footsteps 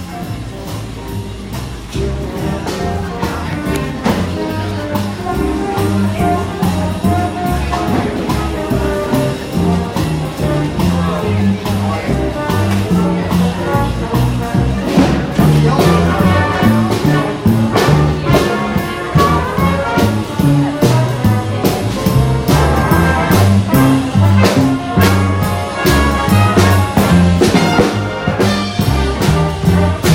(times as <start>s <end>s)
1.6s 11.2s